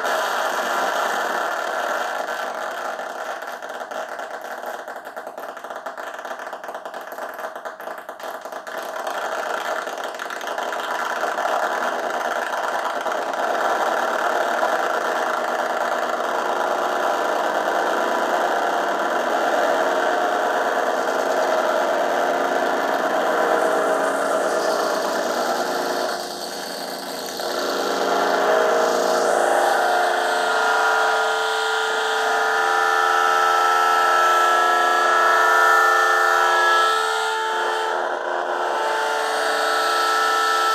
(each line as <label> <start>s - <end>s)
guitar 9.4s - 40.7s
feedback 16.7s - 40.7s